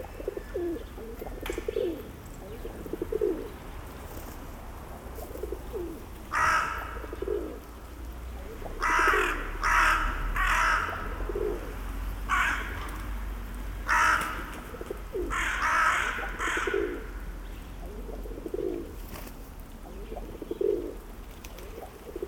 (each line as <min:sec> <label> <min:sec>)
0:00.0 Birds 0:22.2